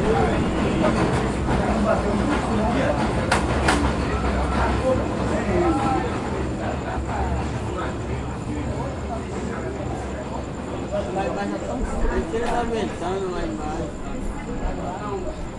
0.0s Men on the street talking / singing 15.5s
0.0s locals talking 15.5s

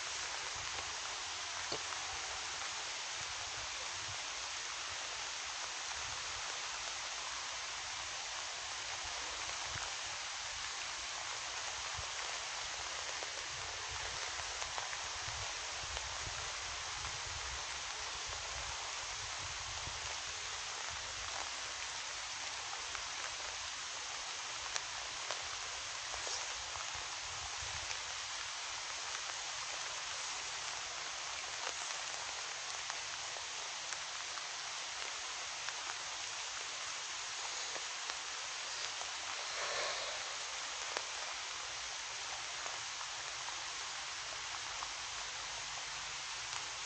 0.0s rain 46.8s

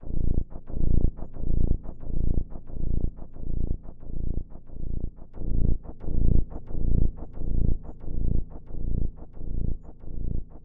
0.0s bass 10.6s

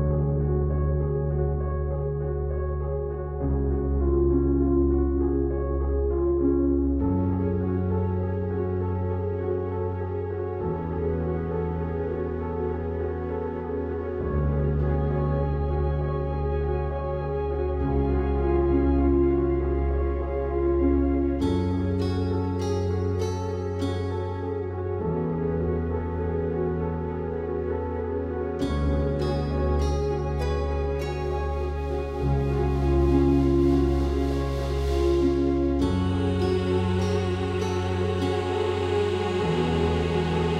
0.0s Piano 40.5s

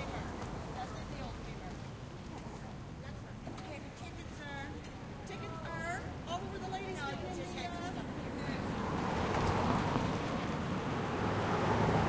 0.0s conversation 10.8s
0.0s passing traffic 12.0s
7.8s Car engine passes with nice low end sound 12.0s
8.7s Big truck with rough engine passes 12.0s
8.7s Car with studs still on tires passes 12.0s
8.7s Motorcycle passes 12.0s

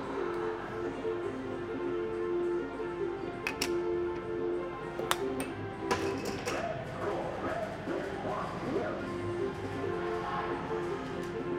5.3s hubbub 11.5s

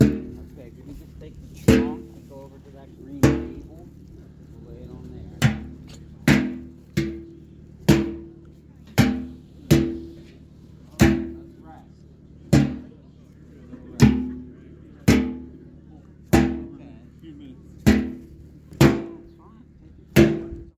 0.0s Big metal pail clanks 11.7s
12.5s Big metal pail clanks 13.1s
13.7s Big metal pail clanks 16.9s
17.8s Big metal pail clanks 19.4s
20.1s Big metal pail clanks 20.7s

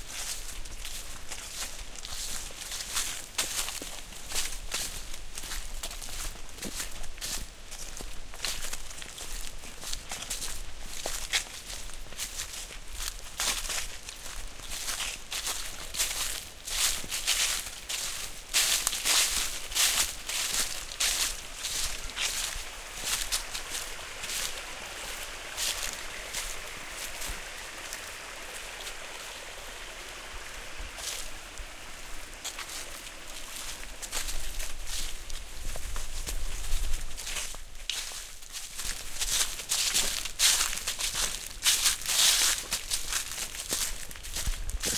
0.0s Footsteps in Dry Leaves 44.9s
15.4s splashing water 35.3s

